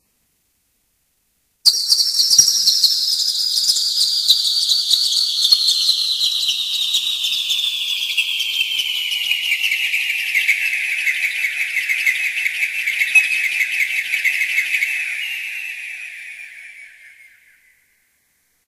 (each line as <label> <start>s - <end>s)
synthesized cascade of bird sounds 1.7s - 18.0s